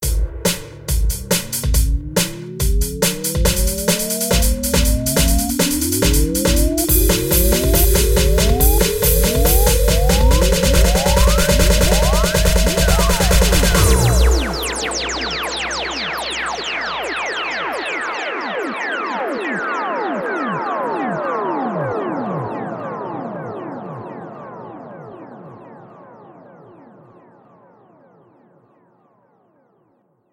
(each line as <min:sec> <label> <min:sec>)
0:00.0 Drum Beat 0:16.6